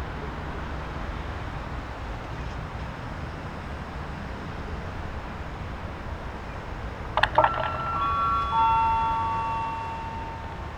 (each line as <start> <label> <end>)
0.0 City rush 10.7
2.8 Train arrival and departure 10.7
7.2 train announcements 10.7